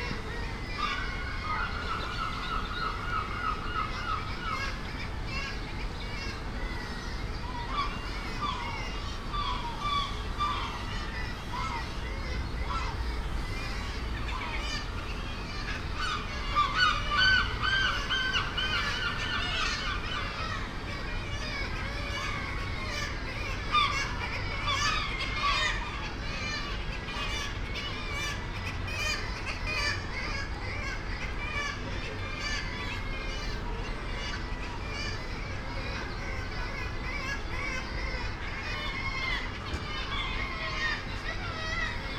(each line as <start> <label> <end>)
0.0 air conditioning units 42.1
0.0 boats leaving the harbour 42.1
0.0 herring gull 42.1
0.0 kittiwakes 42.1
0.0 traffic 42.1
0.0 voices 42.1